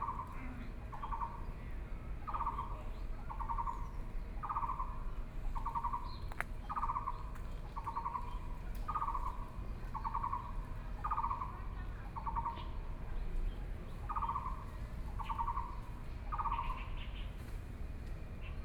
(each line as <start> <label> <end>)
15.2 Birdsong 17.4